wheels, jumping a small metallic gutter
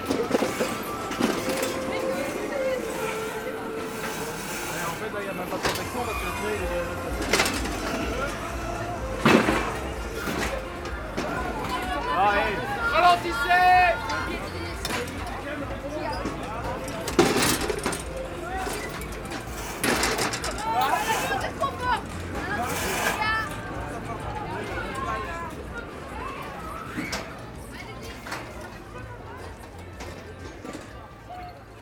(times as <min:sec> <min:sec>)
0:00.0 0:06.0, 0:16.1 0:23.7